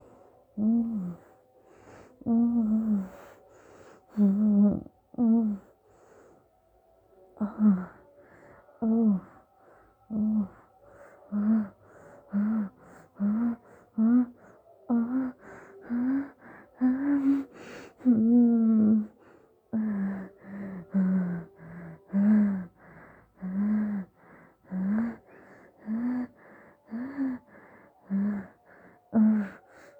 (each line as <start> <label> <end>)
2.2 Girl soft moaning 3.4
7.4 Girl soft moaning 8.0
11.3 Girl soft moaning 22.7